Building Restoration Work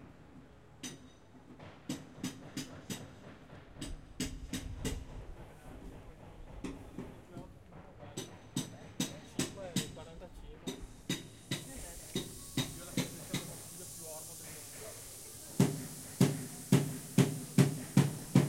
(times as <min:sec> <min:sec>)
0:06.0 0:18.4